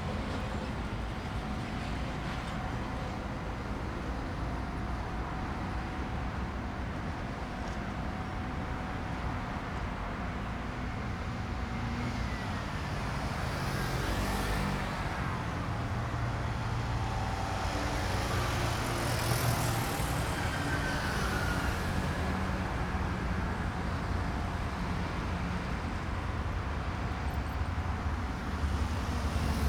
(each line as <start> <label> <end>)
0.0 Traffic Noise 29.6
11.8 Train traveling through 29.6